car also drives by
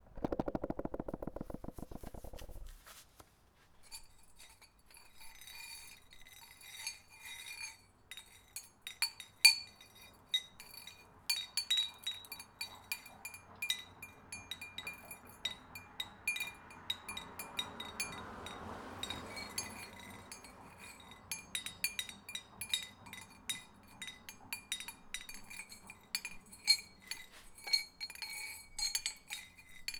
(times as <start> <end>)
15.6 21.5